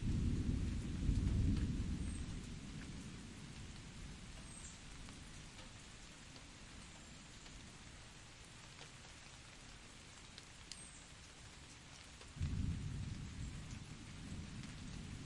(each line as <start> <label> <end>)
0.0 distant thunder 5.2
0.0 Rain dripping off my roof 15.2
3.9 stream 12.4
12.4 distant thunder 15.2